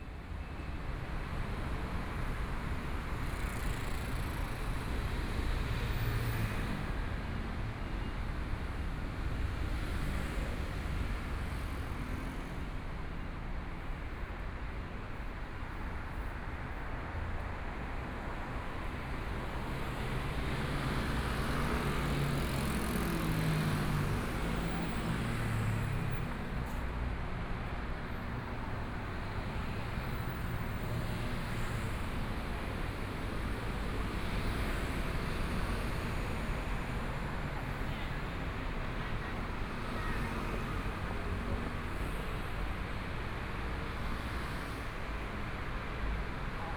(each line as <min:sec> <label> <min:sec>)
0:00.2 Traffic Sound 0:46.7